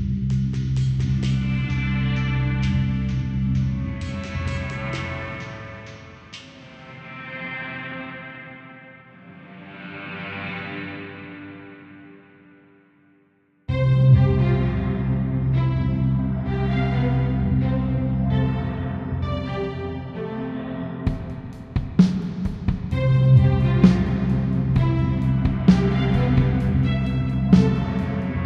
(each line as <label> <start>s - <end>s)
drums 0.0s - 7.0s
strings 0.0s - 12.5s
guitar 1.3s - 21.7s
strings 13.7s - 28.4s
drums 21.0s - 28.4s